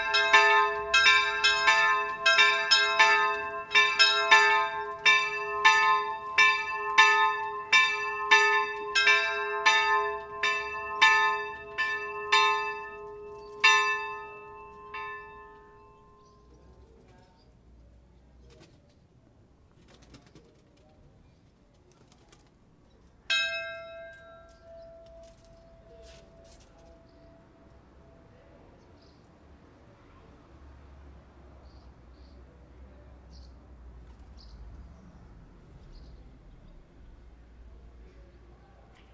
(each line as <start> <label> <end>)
0.0 church bells 16.7
23.3 church bells 28.9